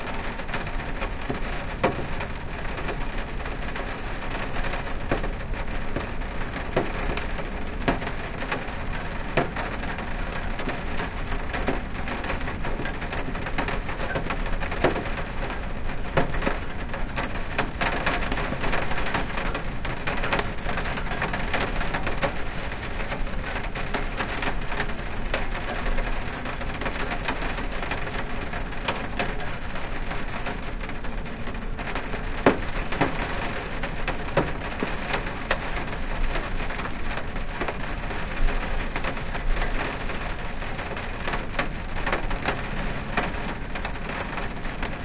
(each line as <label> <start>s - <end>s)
rain hitting the metal air conditioner 0.0s - 45.0s
rain hitting the window 0.0s - 45.0s